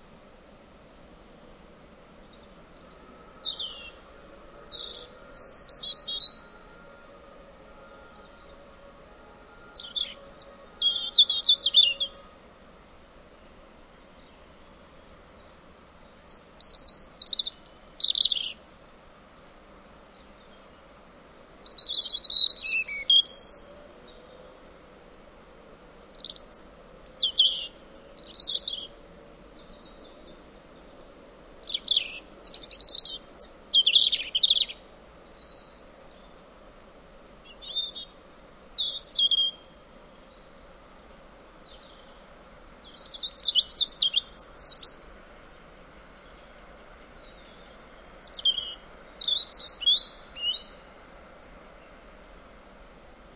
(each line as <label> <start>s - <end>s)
Robin 2.2s - 12.6s